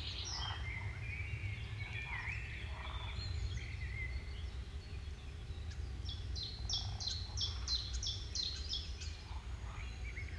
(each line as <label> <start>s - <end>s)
plane over swamp 0.0s - 10.3s